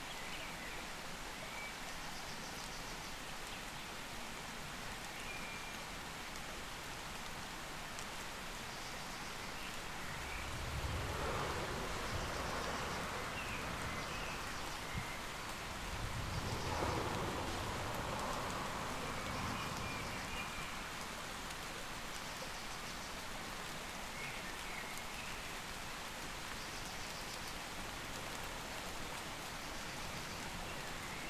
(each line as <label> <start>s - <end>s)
medium rain 0.0s - 31.2s
nearby small creek 0.0s - 31.2s
distant traffic 9.8s - 21.3s